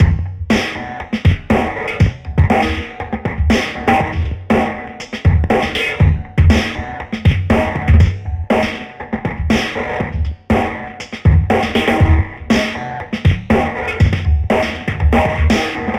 Straight drumbeat 0:00.0 - 0:15.9

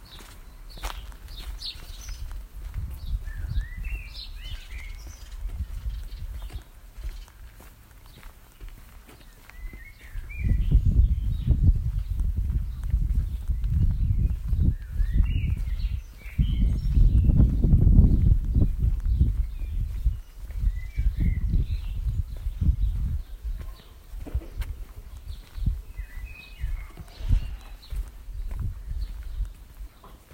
wind noise 0:00.0 - 0:07.7
birdsong 0:00.0 - 0:30.3
walking on a gravelly path 0:00.0 - 0:30.3
wind noise 0:09.6 - 0:30.3

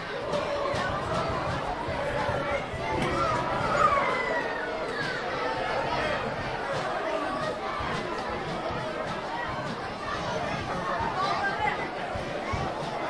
crowd 0:00.0 - 0:13.0
soccer match 0:00.0 - 0:13.0

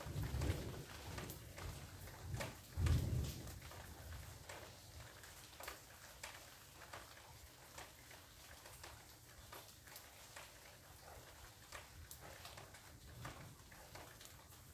rolling thunder 0:00.0 - 0:04.2
Soft Rain 0:00.0 - 0:14.7

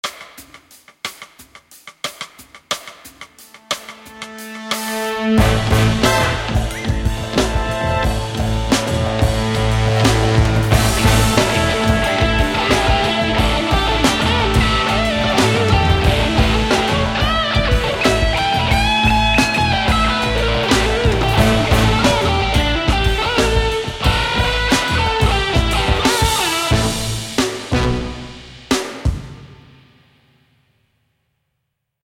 drums 0:00.0 - 0:30.8
guitar 0:05.2 - 0:28.6

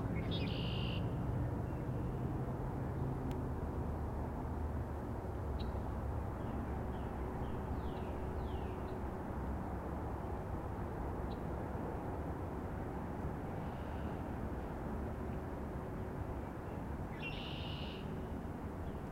Various birdcalls and bird song 0:00.1 - 0:02.3
Various birdcalls and bird song 0:05.6 - 0:09.1
Various birdcalls and bird song 0:16.6 - 0:19.1

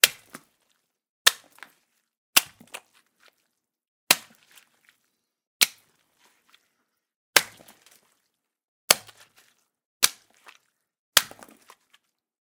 slushy, splattery impacts made by punching watermelons 0:00.0 - 0:00.6
slushy, splattery impacts made by punching watermelons 0:01.2 - 0:01.7
slushy, splattery impacts made by punching watermelons 0:02.4 - 0:03.4
slushy, splattery impacts made by punching watermelons 0:04.1 - 0:06.0
slushy, splattery impacts made by punching watermelons 0:07.4 - 0:08.2
slushy, splattery impacts made by punching watermelons 0:08.9 - 0:12.0

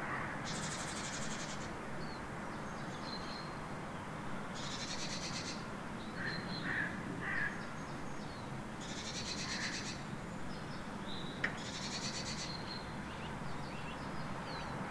several birds 0:00.0 - 0:14.9

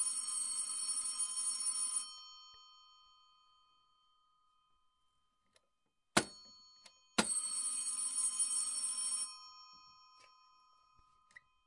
old telephone 0:00.0 - 0:02.2
old telephone 0:06.8 - 0:10.6

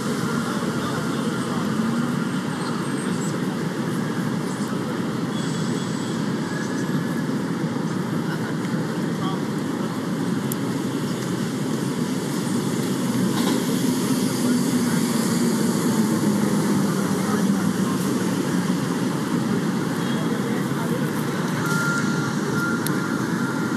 chatter 0:00.0 - 0:23.7
traffic 0:00.0 - 0:23.7

